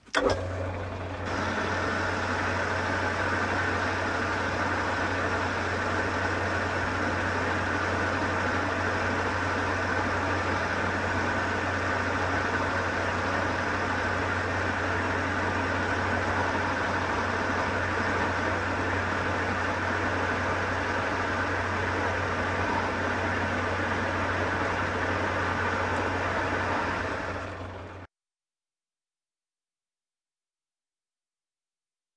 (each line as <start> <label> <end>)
0.0 lathe 6inch in use 28.1